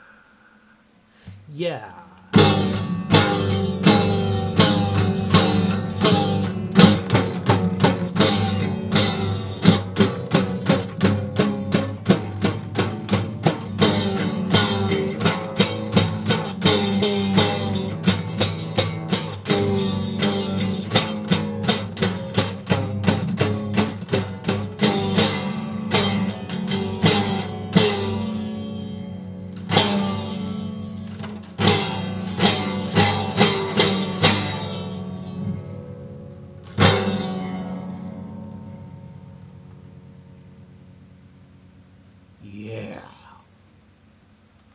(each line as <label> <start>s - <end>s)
horribly out of tune guitar 0.0s - 44.0s